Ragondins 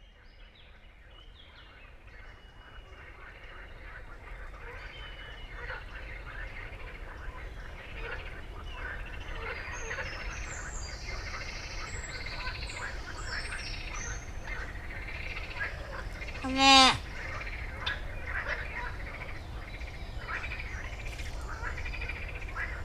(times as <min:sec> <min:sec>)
0:16.0 0:17.1